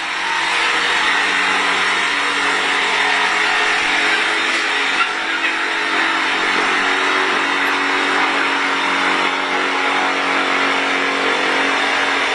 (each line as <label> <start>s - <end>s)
drilling something on his balcony 0.0s - 12.3s